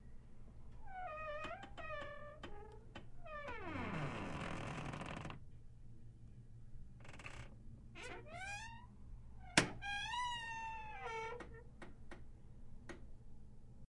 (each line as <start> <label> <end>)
0.8 creaky hotel bathroom door 5.4
7.0 creaky hotel bathroom door 11.7